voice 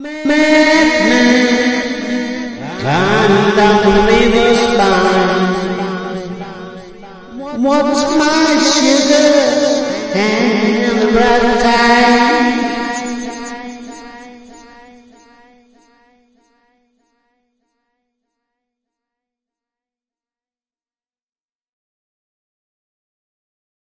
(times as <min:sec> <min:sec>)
0:00.0 0:14.6